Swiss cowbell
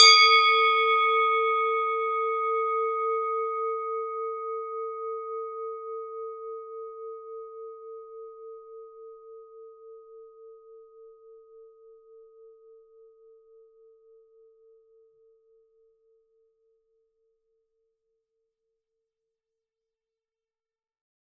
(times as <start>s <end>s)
0.0s 5.6s